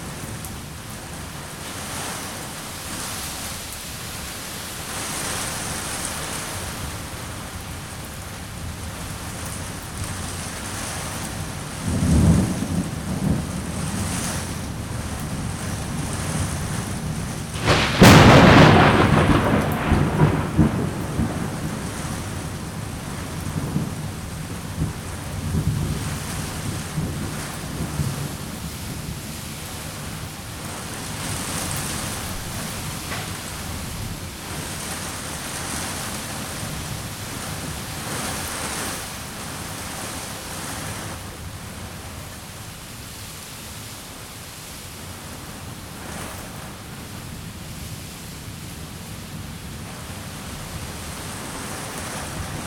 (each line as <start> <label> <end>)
0.0 pattering rain on an balcony canopy 52.6
0.0 storm blows rain against houses and trees 52.6
17.6 growling thunder 22.5